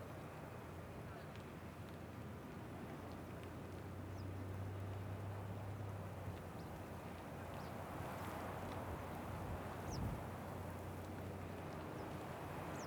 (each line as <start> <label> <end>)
0.0 wind 12.8